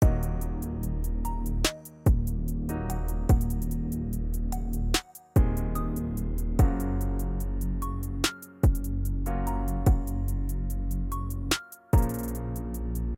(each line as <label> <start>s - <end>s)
drums 0.0s - 0.6s
drums 1.6s - 3.9s
drums 4.7s - 5.8s
drums 6.6s - 7.3s
drums 8.1s - 9.2s
drums 9.8s - 10.5s
drums 11.3s - 12.4s